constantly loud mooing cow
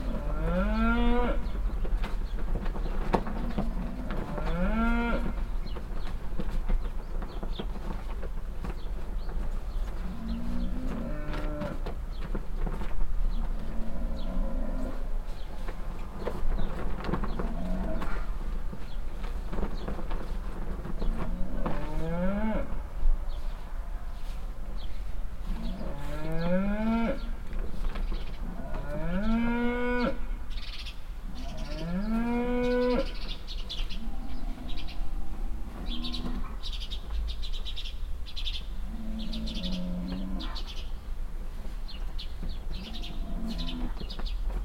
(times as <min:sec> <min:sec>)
0:00.0 0:01.6, 0:03.3 0:05.4, 0:10.0 0:11.9, 0:13.6 0:15.1, 0:21.2 0:22.8, 0:25.5 0:27.4, 0:28.4 0:30.3, 0:31.4 0:35.0, 0:35.6 0:36.7, 0:38.9 0:40.8, 0:42.7 0:44.0